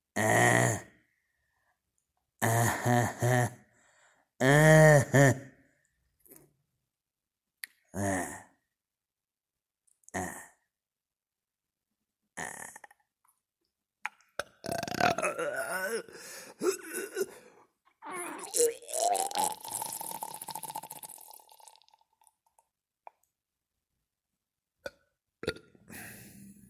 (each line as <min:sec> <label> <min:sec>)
0:10.1 burps 0:10.6
0:12.4 burps 0:13.1
0:14.4 burps 0:17.4
0:14.7 choking 0:20.0
0:14.7 grunts 0:19.5
0:18.0 burps 0:22.3
0:24.8 burps 0:25.8